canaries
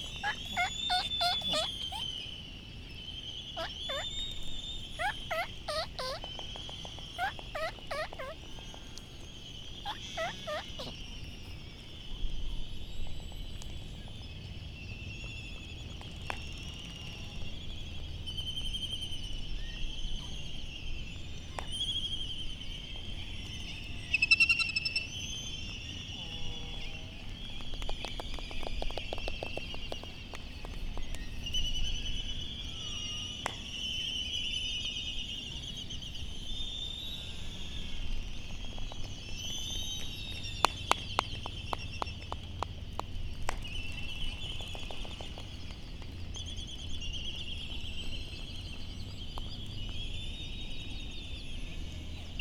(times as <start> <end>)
0.0 2.5, 3.3 11.6